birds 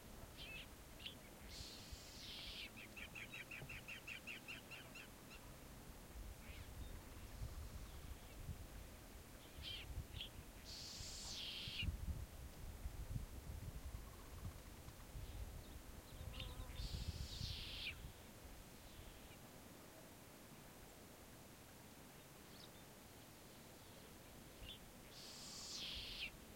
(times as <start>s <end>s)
0.3s 5.6s, 9.4s 11.9s, 13.9s 18.2s, 23.6s 26.5s